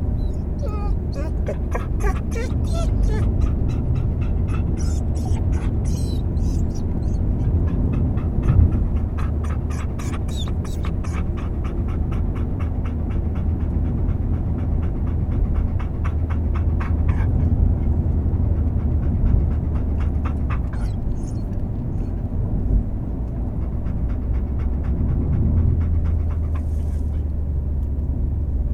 dog 0.0 - 27.4

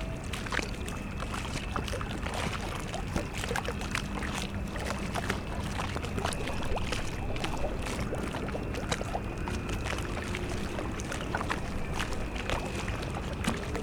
lapping waves 0.0 - 13.8

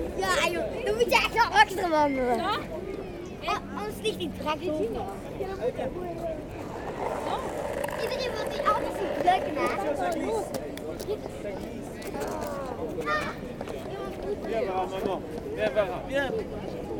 Children playing with bubbles 6.4 - 11.4

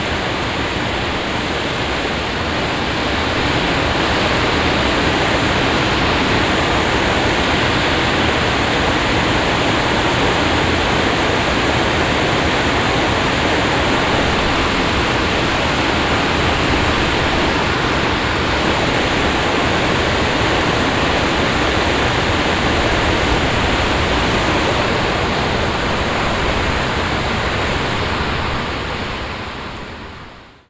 Water floating down an artifical concrete halfpipe 0.0 - 30.4

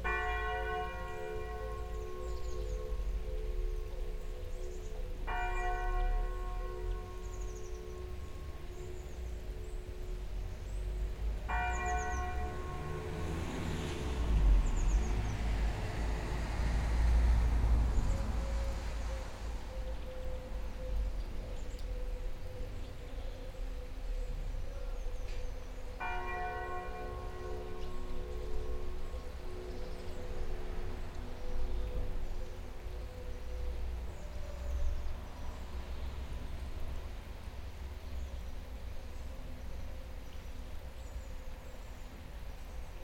Bells ringing 0.0 - 15.0
rains 0.0 - 43.0
Bells ringing 25.3 - 30.6

